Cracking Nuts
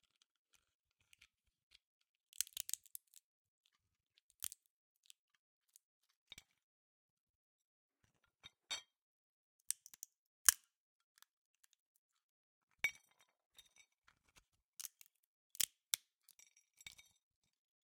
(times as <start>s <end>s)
2.4s 2.9s